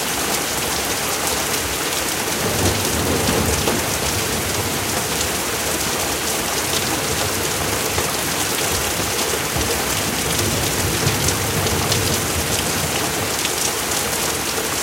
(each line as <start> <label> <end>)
0.0 Heavy Rain 14.8
2.4 Thunder 13.4